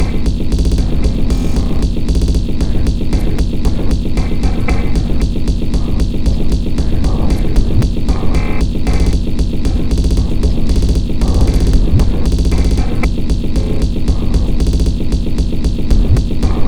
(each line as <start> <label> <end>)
0.0 Drum Loop 16.6